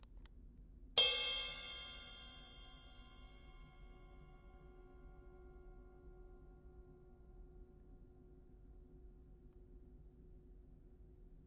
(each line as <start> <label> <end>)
1.0 cymbal 6.4